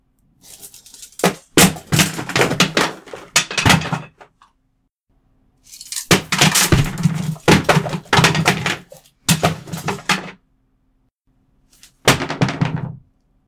wooden and plastic odds-and-ends being dropped 0.5 - 4.4
wooden and plastic odds-and-ends being dropped 5.7 - 10.4
wooden and plastic odds-and-ends being dropped 11.9 - 13.0

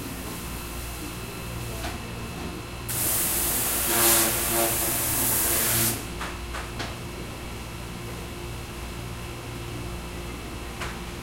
Machine with pressure water for cleaning 2.9 - 6.0

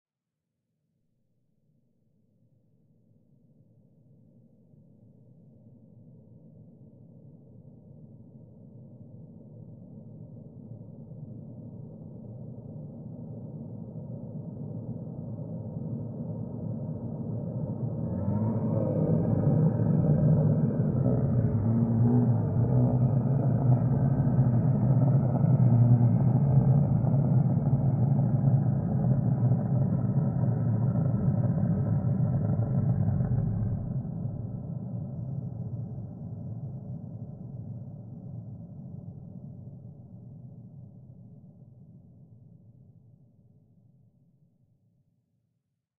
low revers reverbs 15.7 - 39.3
scream 17.7 - 36.2

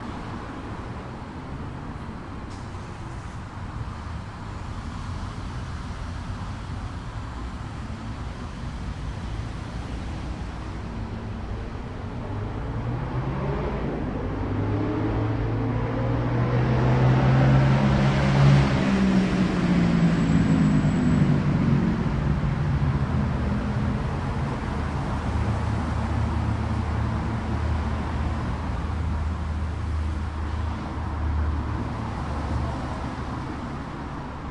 loud engined vehicle passing by 9.6 - 34.5

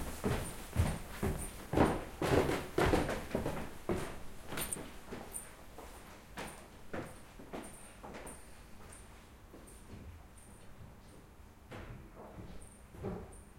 people walking up and down the wood stairs 0.0 - 13.5

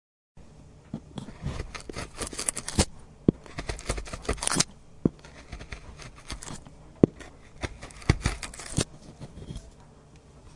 peeling wood 1.2 - 9.4

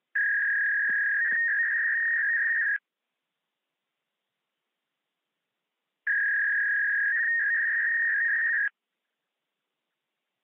dial-up 0.2 - 2.8
dial-up 6.1 - 8.7

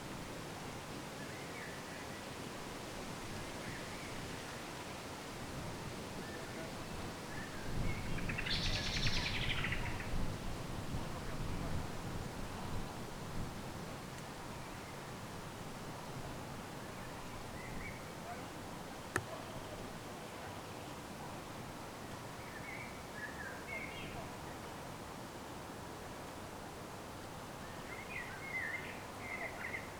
wind blows 2.5 - 22.4
human talks in the background 10.9 - 12.9
human talks in the background 18.0 - 21.6

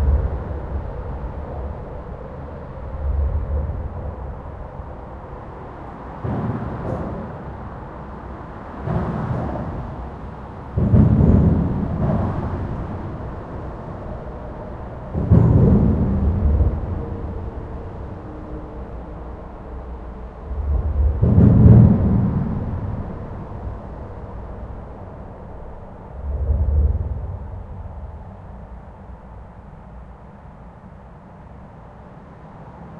trucks 0.0 - 32.9

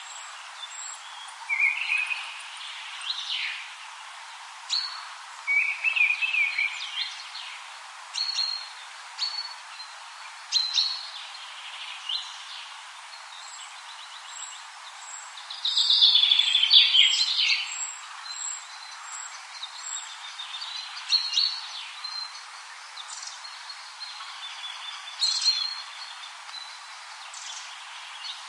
birds 0.0 - 28.4
wind 0.0 - 28.4

